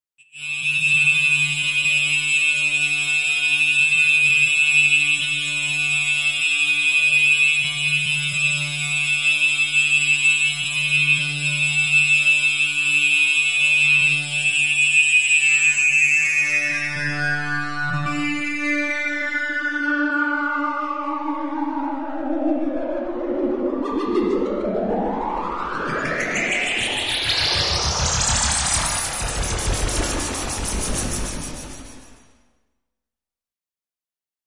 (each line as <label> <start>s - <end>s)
beat 23.4s - 32.0s